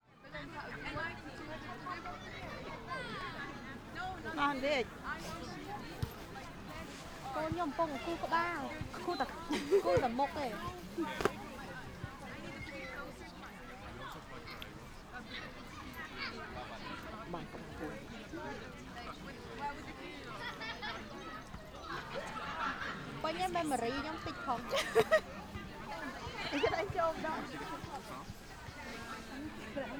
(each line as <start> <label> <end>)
0.0 adults are chatting happily 29.9
0.2 children are playing ball 29.9